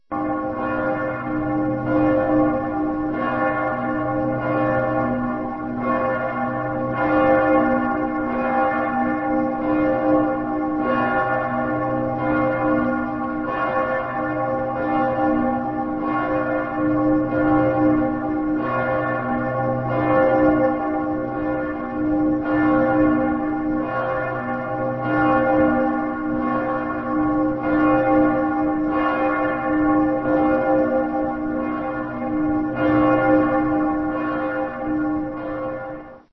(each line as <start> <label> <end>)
0.0 bell 36.3